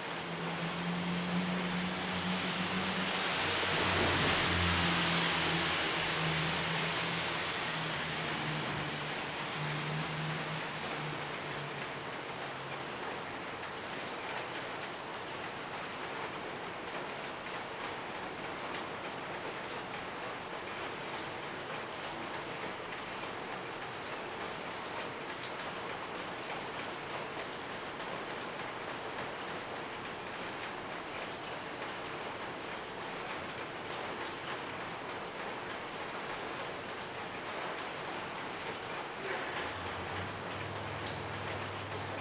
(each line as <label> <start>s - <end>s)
Traffic Sound 0.0s - 13.6s
raindrop 0.0s - 14.6s
raindrop 30.3s - 42.2s
Traffic Sound 36.4s - 42.2s